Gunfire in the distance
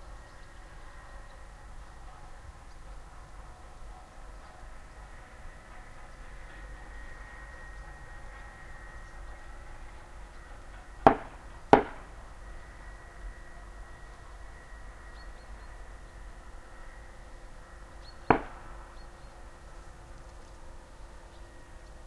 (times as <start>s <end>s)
11.0s 12.2s, 18.2s 19.0s